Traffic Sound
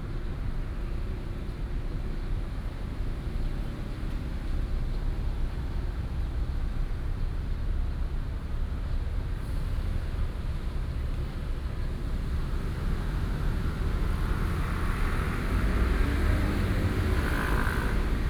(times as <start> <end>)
11.1 18.2